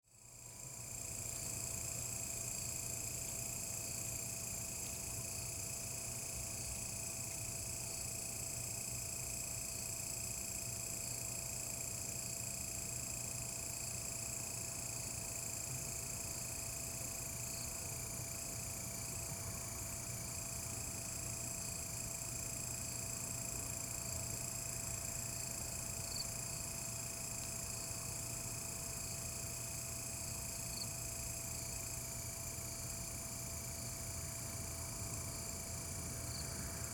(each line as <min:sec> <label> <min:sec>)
0:25.9 Insect calls 0:29.2